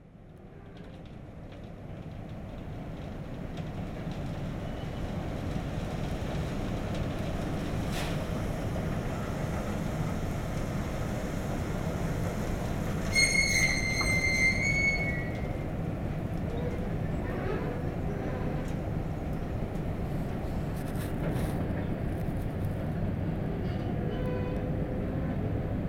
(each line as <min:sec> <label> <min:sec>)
0:00.2 Filling an entire train with cement 0:18.8